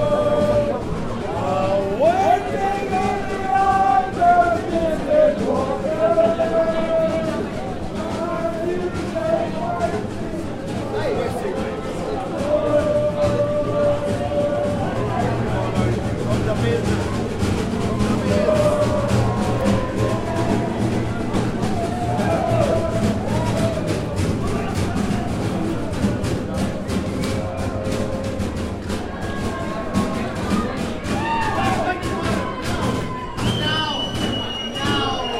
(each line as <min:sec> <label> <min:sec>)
0:00.0 groups of lads singing arm in arm 0:16.5
0:00.0 improv drummers beating on rubbish bins 0:35.3
0:00.0 people walked by 0:35.3
0:17.3 groups of lads singing arm in arm 0:29.0